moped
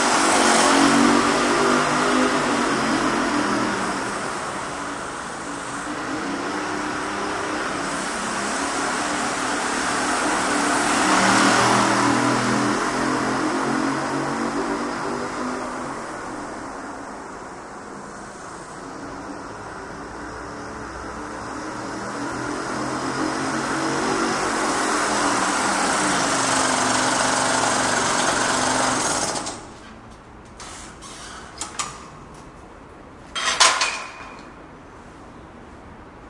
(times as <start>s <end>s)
0.0s 16.9s, 20.2s 29.9s